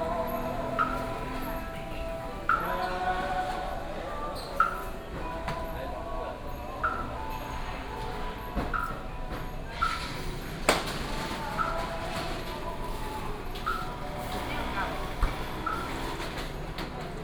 0.0s Walking through the market 17.2s

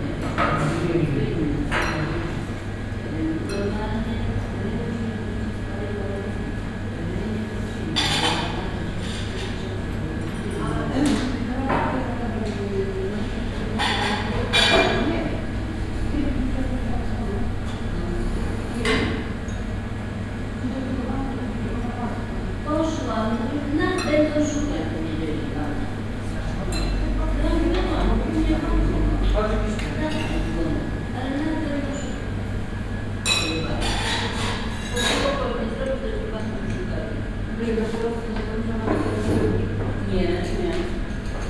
0.0s Hum of the refrigerated display case 41.4s
0.0s elders having their lunch 41.4s

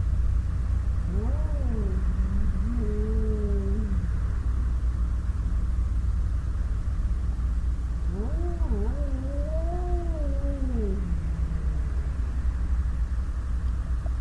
1.0s cats on heat 4.1s
8.0s cats on heat 12.6s

